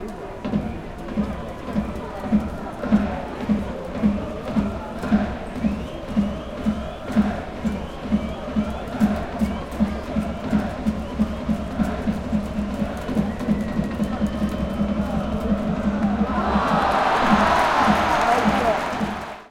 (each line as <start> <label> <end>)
0.0 Crowd 19.5
2.8 baseball match 19.5